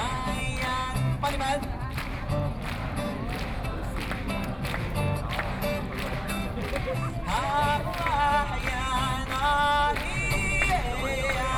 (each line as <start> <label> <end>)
0.0 Taiwanese Aboriginal singers in music 1.8
7.2 Taiwanese Aboriginal singers in music 11.5